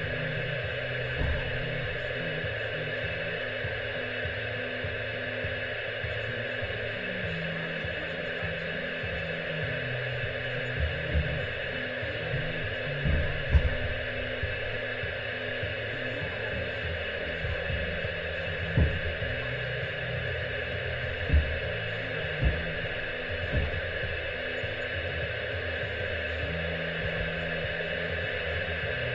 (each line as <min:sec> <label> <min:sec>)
0:00.0 noise of a CB-radio 0:29.1